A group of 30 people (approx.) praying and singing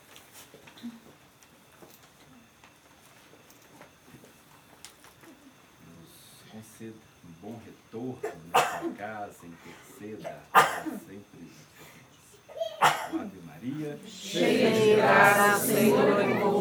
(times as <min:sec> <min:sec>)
0:13.7 0:16.6